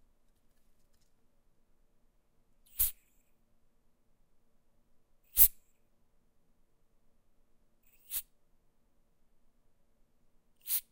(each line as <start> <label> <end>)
7.9 deodorant 8.2
10.6 deodorant 10.9
10.6 air freshener 10.9